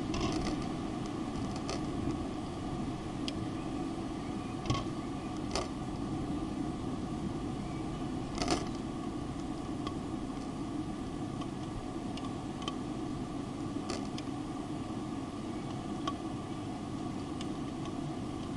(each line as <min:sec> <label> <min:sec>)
0:00.0 ventilation fan shutters clicking in the breeze 0:18.5
0:00.0 wind in the tube-shaped fan chamber 0:18.5
0:03.1 birds in the distance 0:09.7
0:14.2 birds in the distance 0:17.7